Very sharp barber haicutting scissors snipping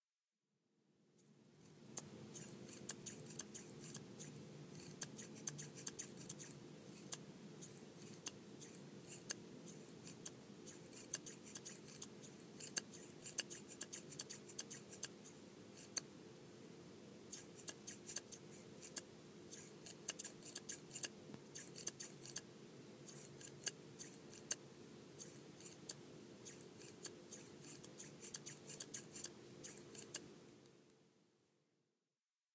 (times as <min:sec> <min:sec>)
0:02.0 0:04.0, 0:04.8 0:07.2, 0:19.6 0:22.4, 0:26.5 0:30.2